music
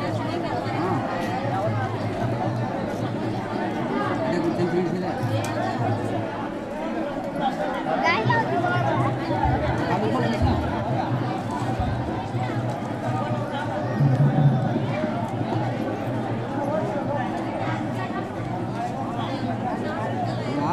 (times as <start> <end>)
8.3 16.5